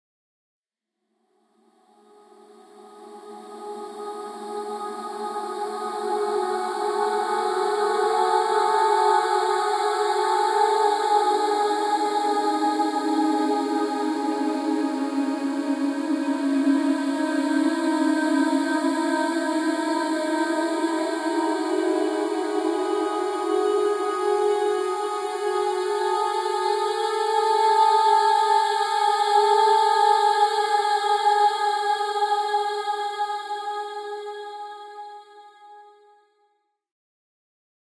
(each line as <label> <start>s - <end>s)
blurred atmospheric sounds from a female vocal sample 2.3s - 35.7s